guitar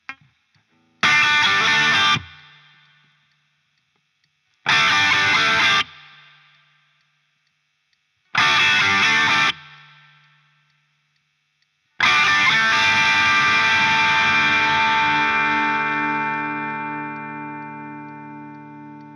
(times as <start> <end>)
0.0 3.1, 4.6 6.6, 8.3 10.3, 12.0 19.1